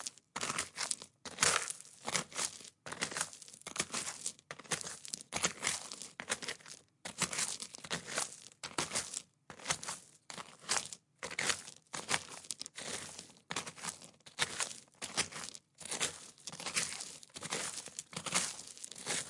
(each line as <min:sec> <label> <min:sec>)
0:00.0 Footsteps Walking On Gravel Stones Very Slow Pace 0:19.2